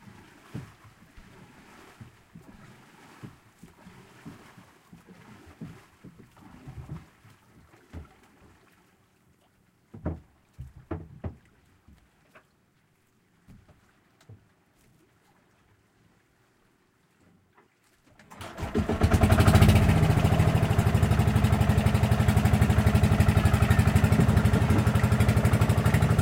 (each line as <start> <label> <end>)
0.0 boat skipper rows 9.2
0.0 sea 26.2
17.6 boat skipper rows 26.2
18.1 Boat starting 26.2